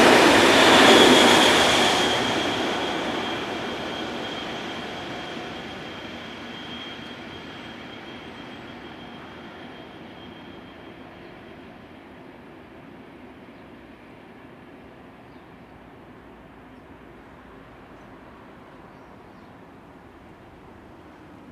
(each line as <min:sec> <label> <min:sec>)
0:00.0 train 0:21.5